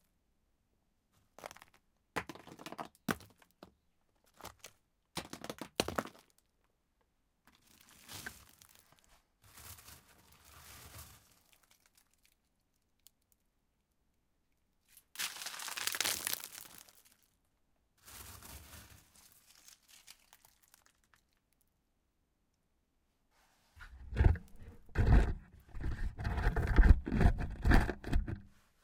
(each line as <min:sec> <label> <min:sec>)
0:15.2 Stones hit, rolled and scratched 0:17.2
0:23.8 Stones hit, rolled and scratched 0:28.5